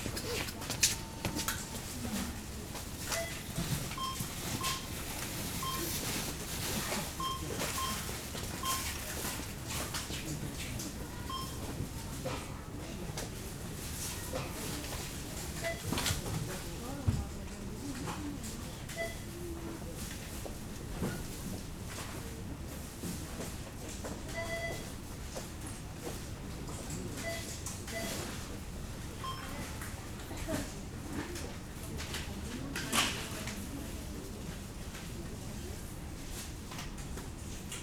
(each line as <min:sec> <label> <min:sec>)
0:00.0 people looking for special offers 0:09.4